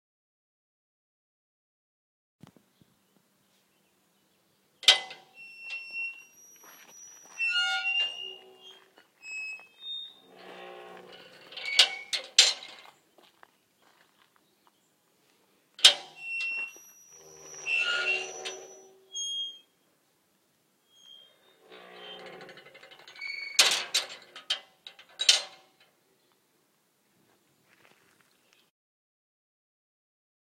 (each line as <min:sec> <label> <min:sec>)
0:04.8 handle rattles 0:05.9
0:04.8 It clangs shut 0:05.9
0:04.8 gate creaks as it swings open and then shut 0:13.0
0:10.3 handle rattles 0:12.9
0:15.8 It clangs shut 0:16.5
0:15.8 gate creaks as it swings open and then shut 0:19.7
0:20.9 gate creaks as it swings open and then shut 0:26.0
0:21.7 handle rattles 0:25.9